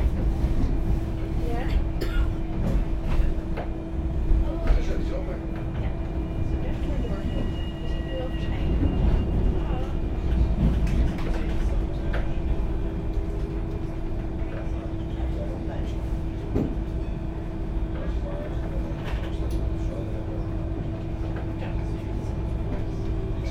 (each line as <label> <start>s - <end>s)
tramway 0.0s - 23.5s